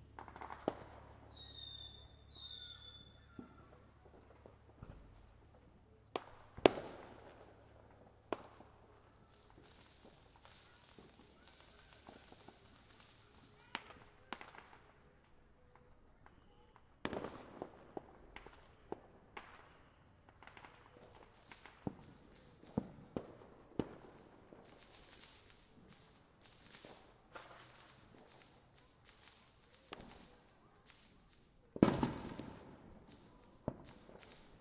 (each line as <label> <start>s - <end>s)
whistlers 1.3s - 3.6s
crackly fountain sparklers 6.1s - 34.6s